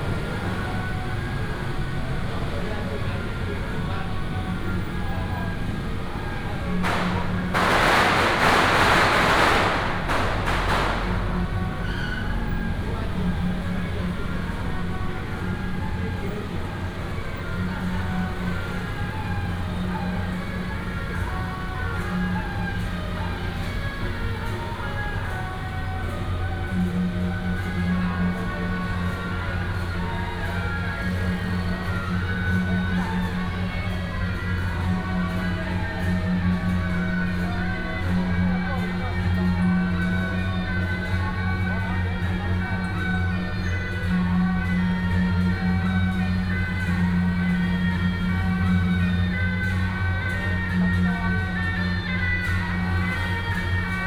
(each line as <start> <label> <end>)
0.0 Traditional temple festivals 54.0
6.7 Firecrackers 12.7